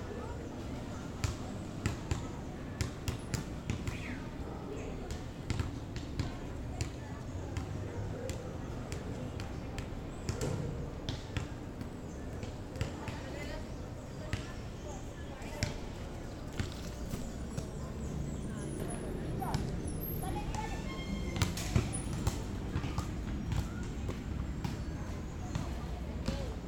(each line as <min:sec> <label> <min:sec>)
0:15.8 Buses pasando 0:25.8